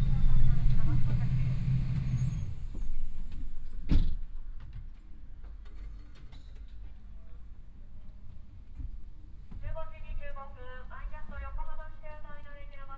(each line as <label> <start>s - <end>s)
announcement outside 0.0s - 2.4s
bus sound while driving 0.0s - 4.6s
announcement outside 9.7s - 12.9s